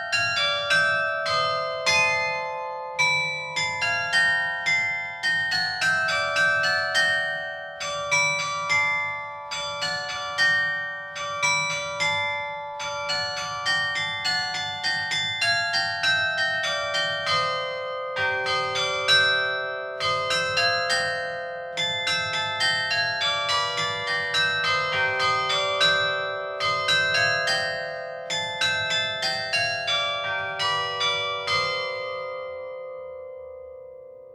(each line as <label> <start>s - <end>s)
Carillon 0.0s - 34.3s